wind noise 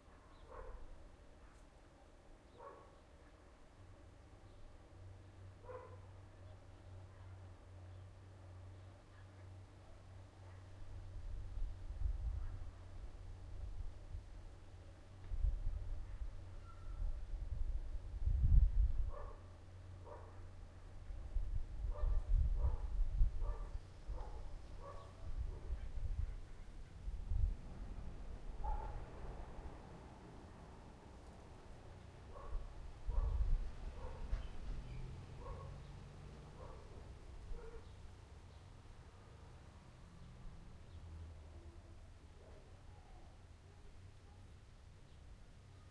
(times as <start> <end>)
11.2 14.4, 15.2 20.3, 21.0 29.8, 32.3 34.8